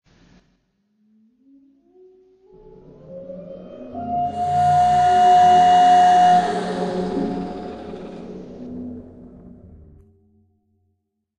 1.4s Weird whale 10.0s

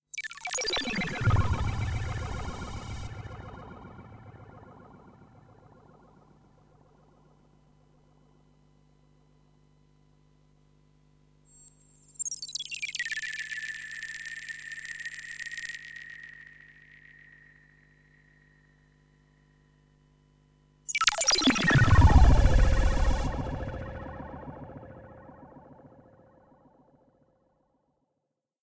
0.2s syntesizer 6.9s
11.5s syntesizer 18.6s
20.9s syntesizer 27.0s

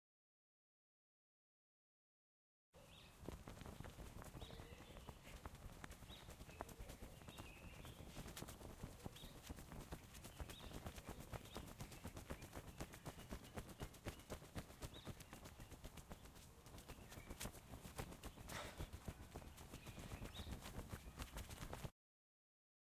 3.0s fanning himself with his shirt 21.9s

